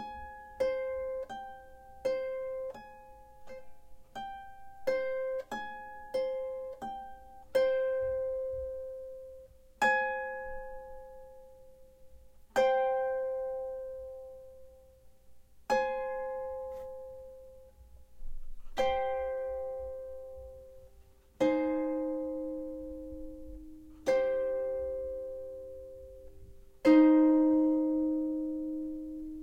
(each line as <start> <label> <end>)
15.7 Harp Improvisation 29.4